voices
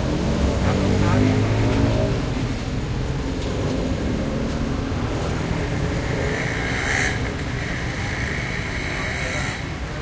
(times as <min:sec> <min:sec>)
0:05.2 0:10.0